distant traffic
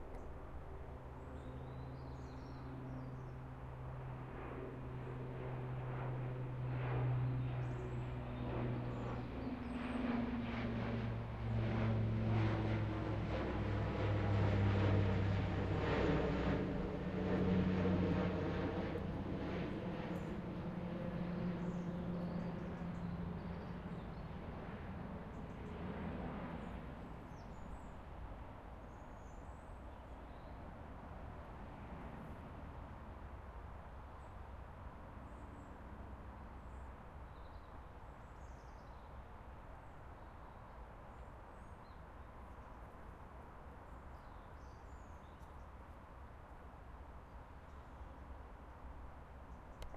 0:00.0 0:29.4

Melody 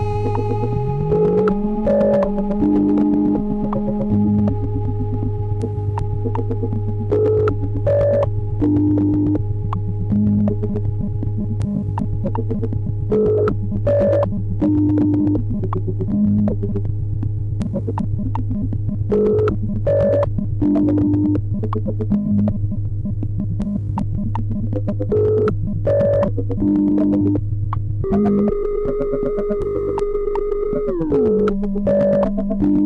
0:00.0 0:16.8, 0:28.0 0:32.8

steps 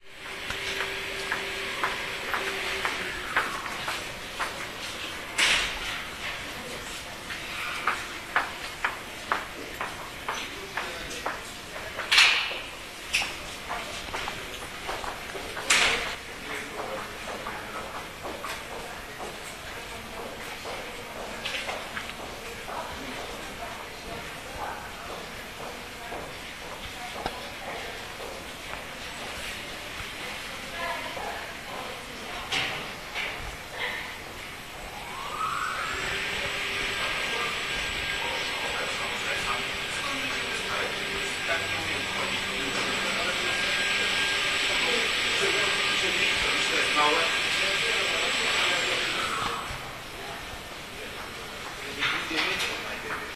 0:00.0 0:19.5

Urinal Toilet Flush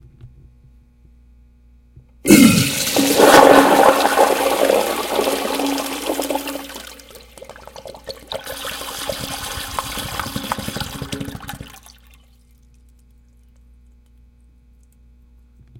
0:02.3 0:12.1

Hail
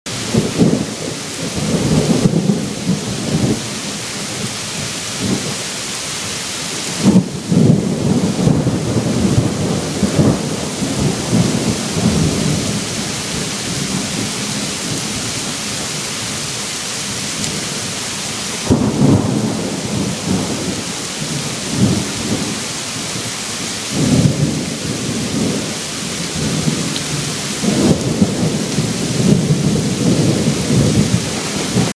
0:06.8 0:31.9

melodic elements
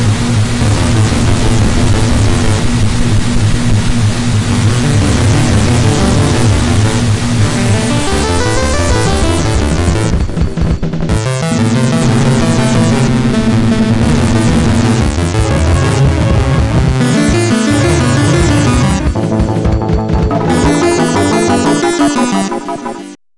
0:04.5 0:10.5, 0:11.1 0:23.2

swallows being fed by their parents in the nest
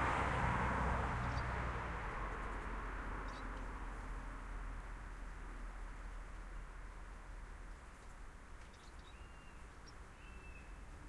0:01.2 0:01.6, 0:02.4 0:03.7, 0:07.9 0:11.0

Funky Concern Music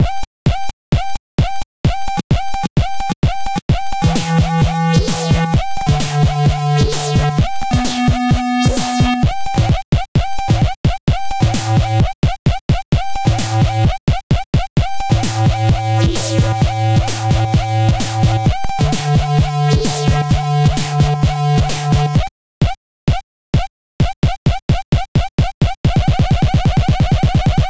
0:00.1 0:12.4, 0:13.0 0:14.2, 0:14.8 0:22.2

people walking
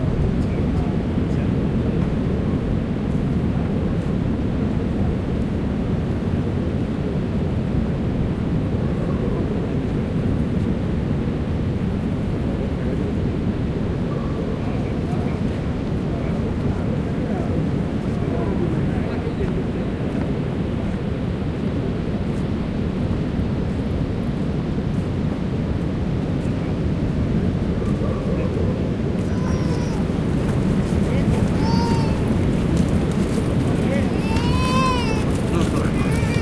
0:29.0 0:36.4

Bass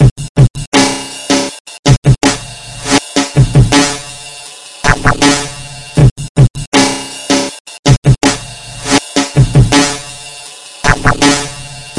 0:02.2 0:07.4, 0:08.2 0:11.9

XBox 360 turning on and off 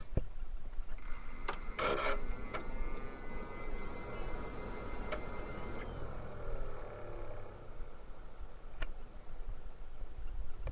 0:00.9 0:08.2

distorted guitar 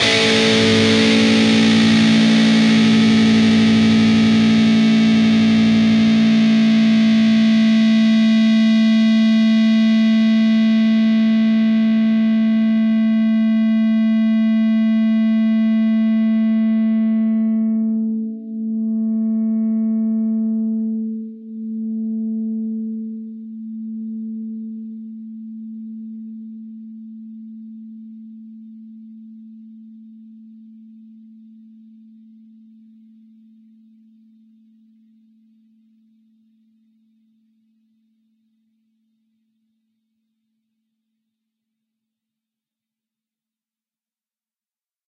0:00.0 0:18.1

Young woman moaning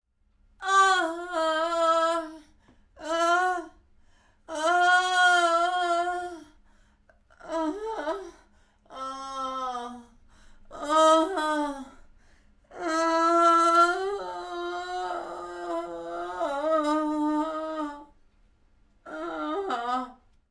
0:04.5 0:06.6, 0:07.4 0:12.0, 0:12.7 0:18.1, 0:19.1 0:20.2

